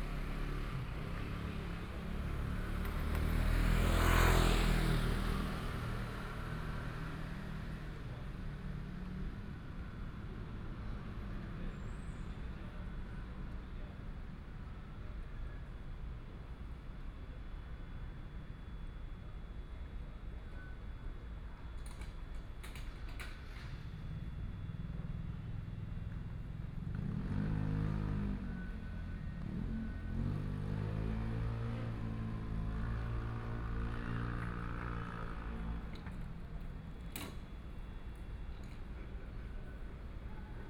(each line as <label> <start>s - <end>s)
Traffic Sound 0.0s - 7.9s
Traffic Sound 22.7s - 40.6s